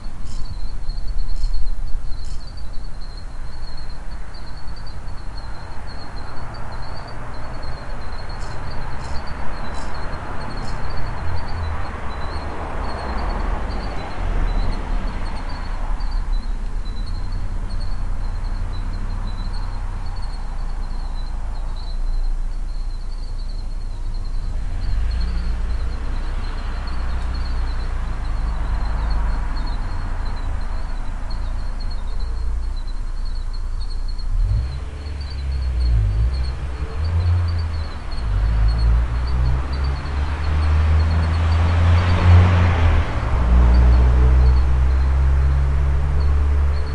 0.0s Crickets 46.9s
0.0s traffic noise 46.9s

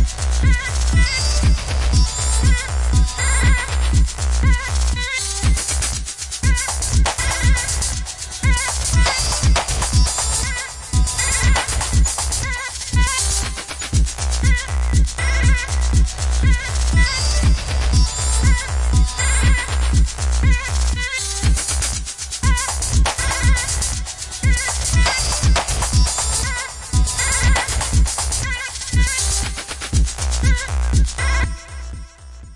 0.0s deep-house edm music beat 32.5s

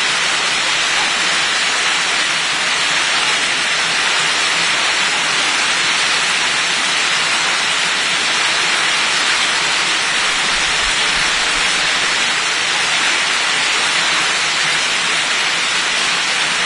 0.0s river 16.6s

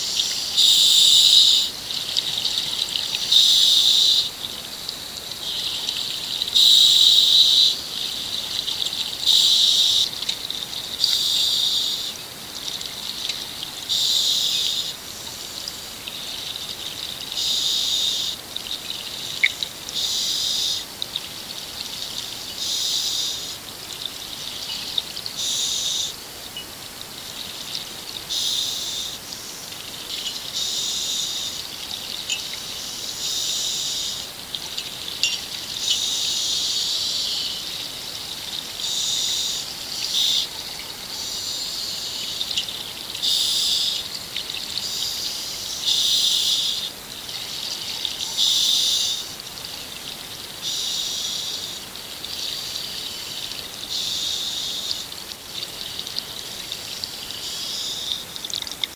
0.0s water 58.9s

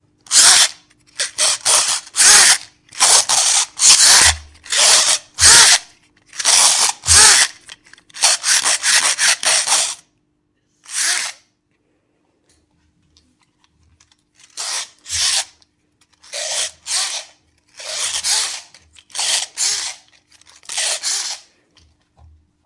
0.3s girl winding up a toy boat 10.0s
10.8s girl winding up a toy boat 11.4s
14.4s girl winding up a toy boat 21.5s

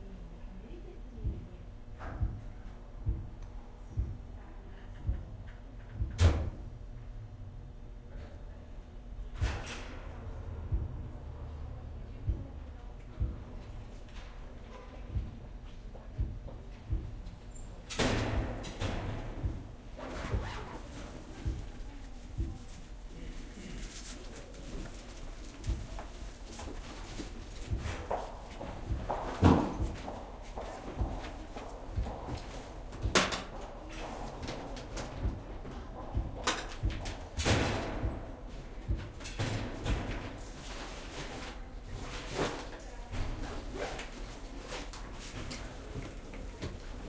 18.3s steps 47.0s

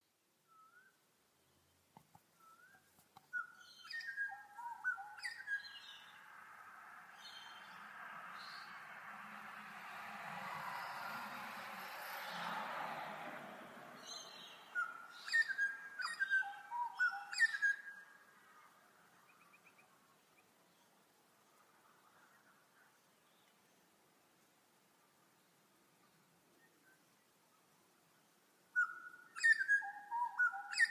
0.5s bird tweets and chirps 6.3s
7.1s bird tweets and chirps 8.8s
13.9s bird tweets and chirps 21.0s
25.3s bird tweets and chirps 30.9s

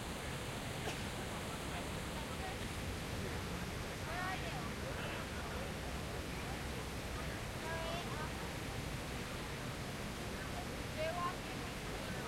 0.0s fountain 12.2s
0.0s voices around me 12.2s

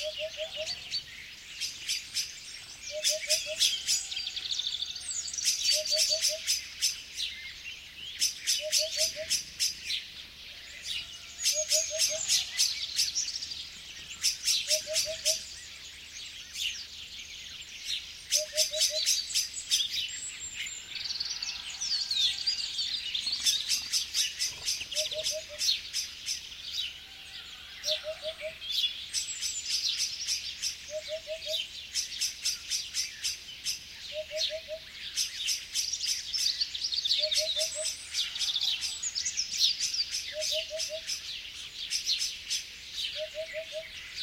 0.0s birds singing 44.2s
0.0s blackbird 44.2s
23.1s fluttering of wings 25.3s
24.7s hoopoe 25.8s

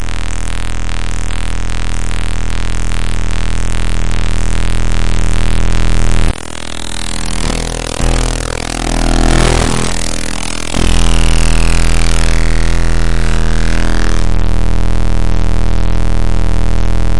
0.0s feedback 17.1s
0.0s glitchy sounds 17.1s
0.0s interference 17.1s
0.0s static white noise 17.1s
4.2s drones 16.0s

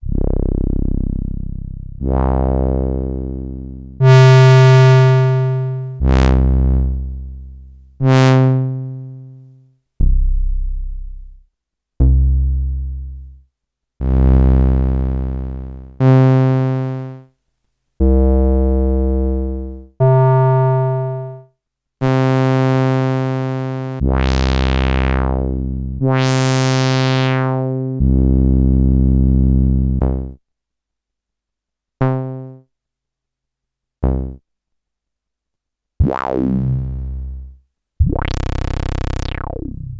0.0s BASS 17.2s
18.0s BASS 21.4s
22.0s BASS 30.4s
34.0s BASS 34.4s
36.0s BASS 39.9s

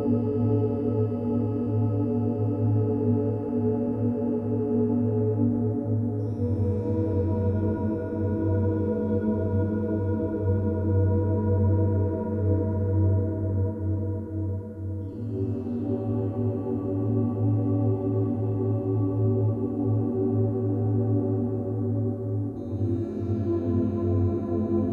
0.0s synthesizer 24.9s

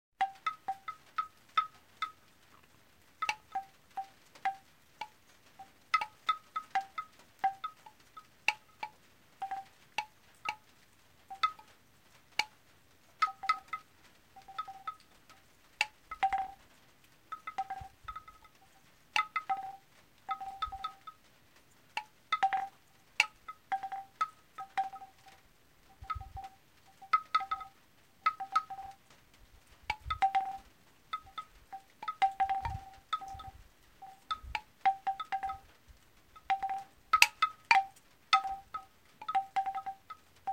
0.2s wind 40.5s
0.2s rain 40.5s
0.2s Windbell playing music 1.3s
3.2s Windbell playing music 4.6s
5.6s Windbell playing music 10.6s
11.3s Windbell playing music 11.7s
13.2s Windbell playing music 13.8s
14.4s Windbell playing music 15.0s
15.8s Windbell playing music 16.6s
17.3s Windbell playing music 18.6s
19.2s Windbell playing music 21.2s
22.0s Windbell playing music 25.3s
25.9s Windbell playing music 29.0s
29.9s Windbell playing music 35.7s
36.4s Windbell playing music 40.5s

